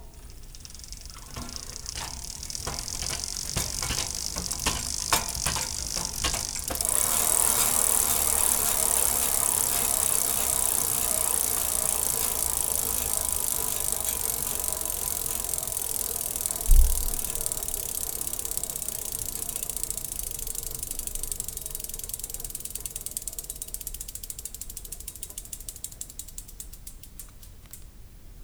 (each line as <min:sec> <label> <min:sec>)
0:00.0 gears 0:27.3
0:00.0 Pedaling on a bike 0:27.9